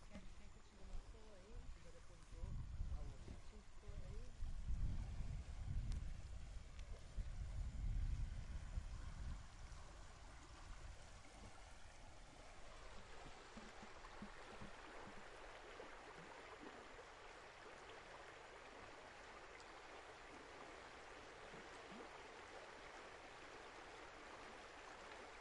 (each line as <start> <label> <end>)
0.0 river 25.4